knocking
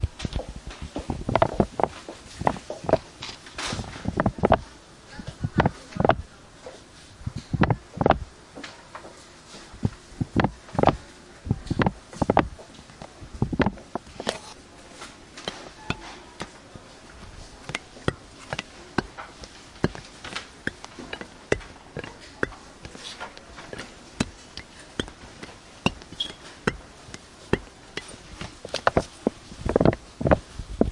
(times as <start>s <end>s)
1.1s 3.1s, 4.1s 4.6s, 7.5s 8.3s, 9.8s 14.4s, 17.6s 30.9s